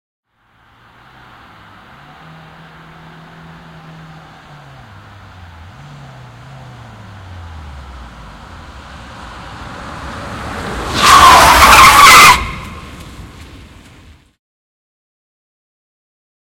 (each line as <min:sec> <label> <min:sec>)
0:00.6 Passenger car braking on asphalt 0:14.2
0:10.2 tyres screeching 0:13.3